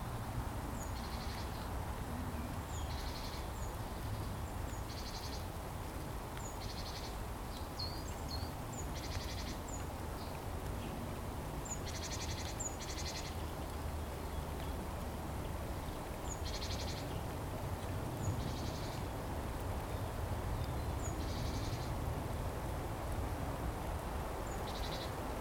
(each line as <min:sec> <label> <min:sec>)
0:06.4 Birds singing 0:11.0
0:11.6 Birds singing 0:14.7